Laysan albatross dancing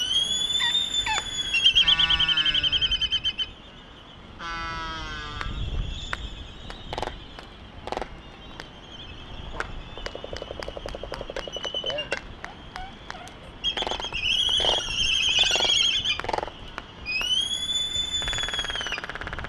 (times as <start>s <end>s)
9.5s 17.4s